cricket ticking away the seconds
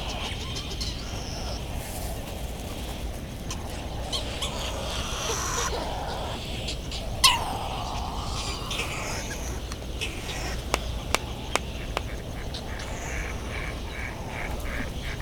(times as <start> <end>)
5.2 15.2